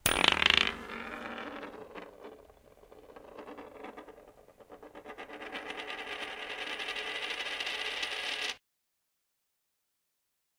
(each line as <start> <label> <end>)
0.0 coin spinning 8.6